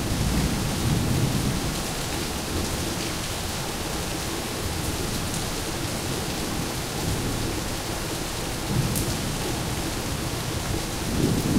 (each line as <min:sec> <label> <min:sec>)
0:00.0 Rain 0:11.5
0:11.0 thunder 0:11.5